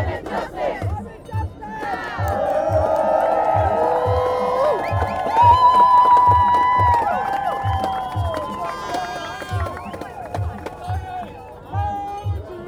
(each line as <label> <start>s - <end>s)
Crowds chants 0.0s - 12.6s
People are cheered and clapped 0.0s - 12.6s